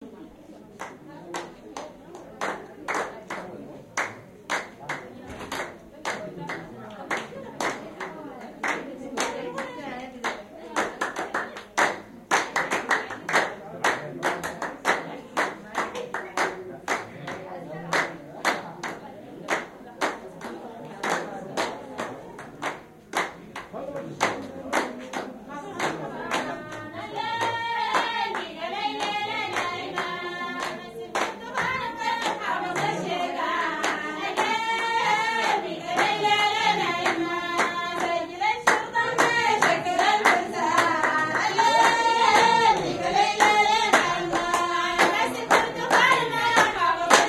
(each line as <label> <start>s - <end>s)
clapping 0.8s - 26.8s
clapping 27.4s - 47.2s